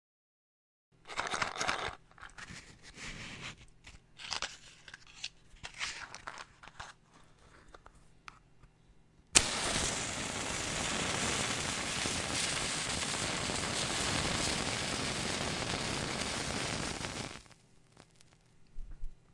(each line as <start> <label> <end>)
9.4 match strike 18.5